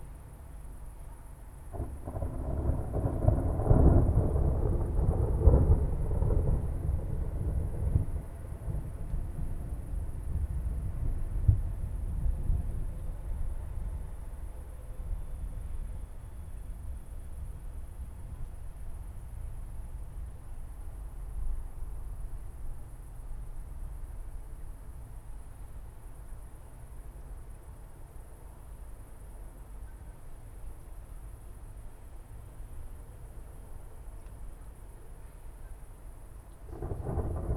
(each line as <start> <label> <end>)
0.0 moderate cricket activity 37.5
0.2 thunderstorm rumbling far in the distance 37.5